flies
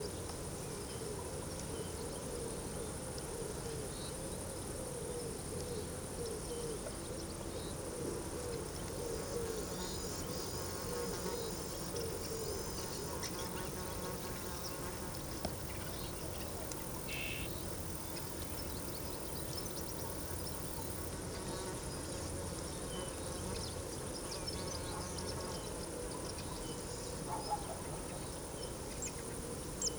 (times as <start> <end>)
7.9 22.0